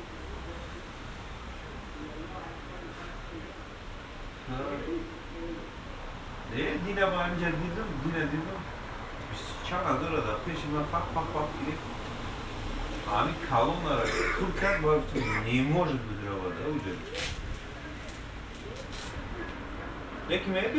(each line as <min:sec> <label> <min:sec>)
0:13.9 phoning man 0:18.0